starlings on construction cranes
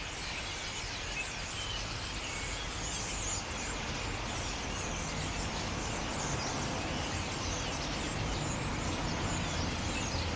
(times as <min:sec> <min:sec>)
0:02.1 0:10.3